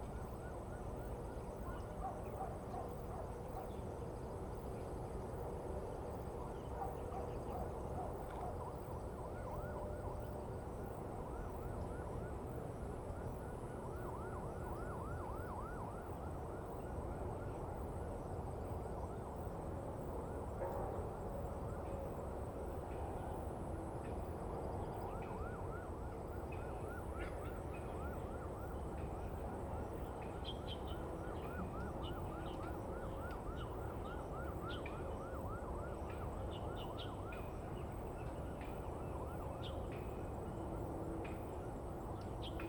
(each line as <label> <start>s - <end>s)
sound from the highway 0.0s - 42.6s
Police car sound 9.0s - 18.0s
Police car sound 24.7s - 42.6s